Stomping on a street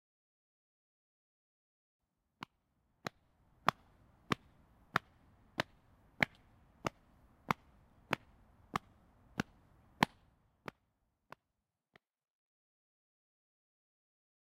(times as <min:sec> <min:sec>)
0:02.4 0:11.4